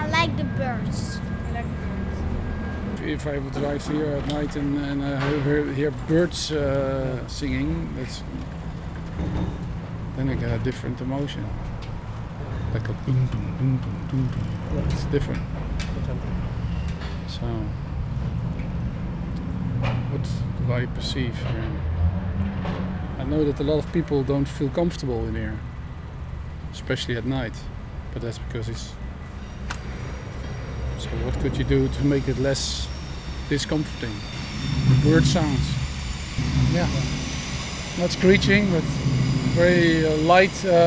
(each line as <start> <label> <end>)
0.0 Interviews 8.6
10.1 Interviews 11.7
19.4 Interviews 22.2
23.1 Interviews 25.7
31.0 Interviews 40.8